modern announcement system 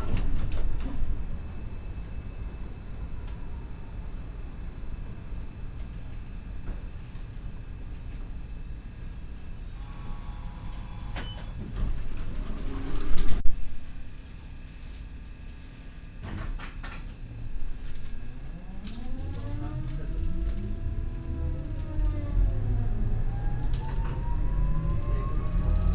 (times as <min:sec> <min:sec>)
0:18.4 0:25.9